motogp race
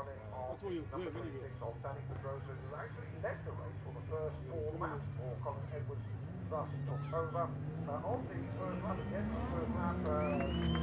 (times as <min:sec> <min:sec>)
0:04.7 0:10.8